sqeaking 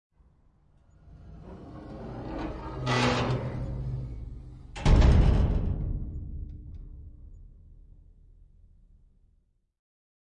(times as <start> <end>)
0.9 5.0